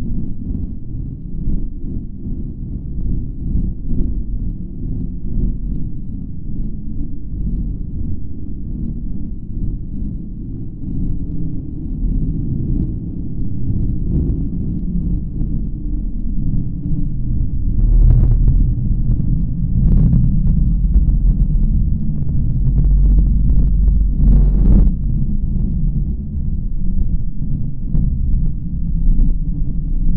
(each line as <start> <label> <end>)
0.0 pulsating softly bass sound 30.1